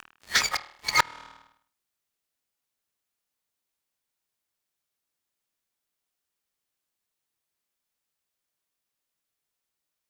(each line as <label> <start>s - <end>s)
glitchy scrape 0.0s - 1.4s